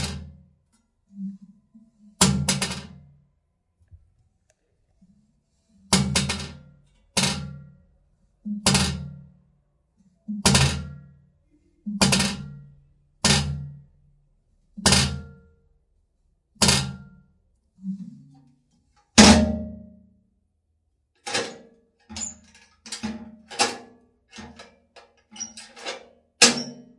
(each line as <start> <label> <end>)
21.2 metal safe deposit box lock and unlock various 26.9